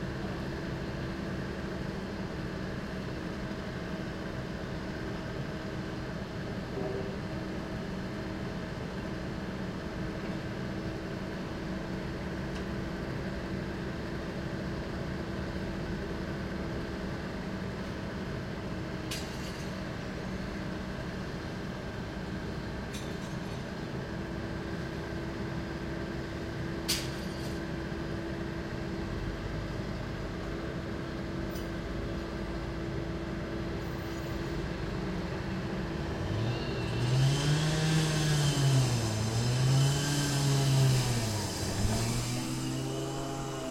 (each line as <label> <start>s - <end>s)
generator 34.9s - 43.7s
concrete saw 36.2s - 43.7s